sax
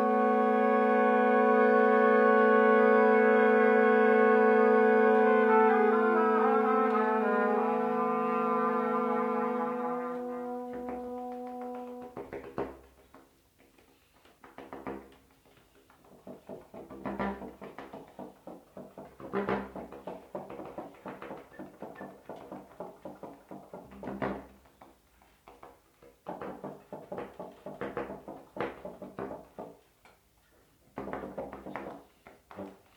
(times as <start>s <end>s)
0.0s 12.8s